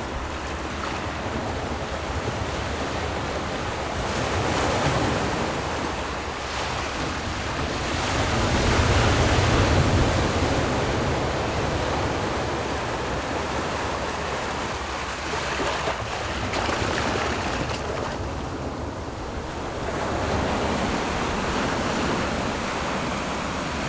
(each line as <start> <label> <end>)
0.0 boats on the distant sea 23.8
0.0 waves 23.8